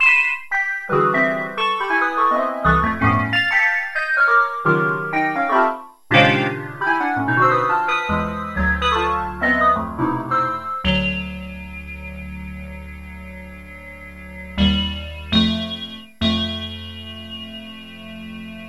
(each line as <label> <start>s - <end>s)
harmonies 0.0s - 18.6s
freehanded introplay on the yamaha an1-x 6.1s - 18.6s